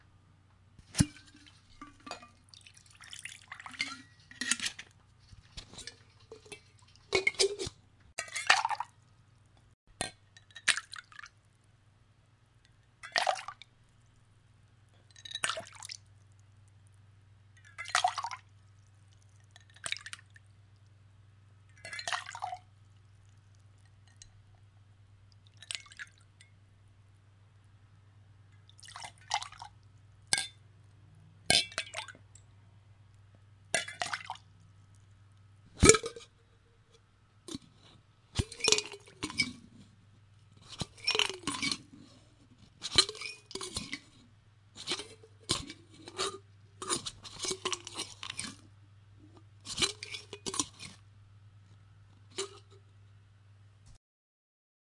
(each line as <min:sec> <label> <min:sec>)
0:38.4 liquid being poured from a shaker into a glass 0:39.5